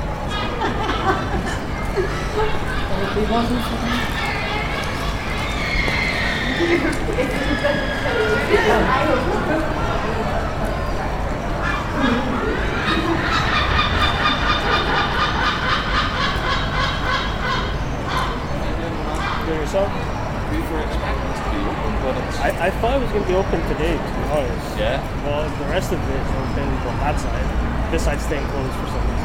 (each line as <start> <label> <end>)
0.0 talking with the couple 29.2